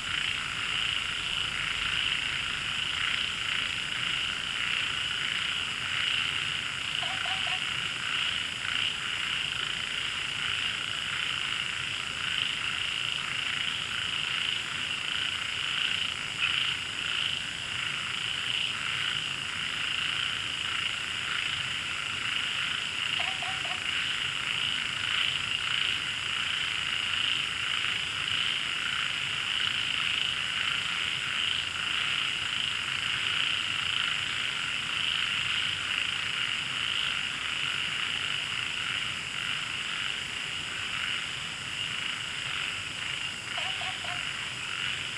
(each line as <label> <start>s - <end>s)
Frog chirping 0.1s - 11.6s
Frog chirping 15.2s - 34.1s
Frog chirping 40.8s - 45.1s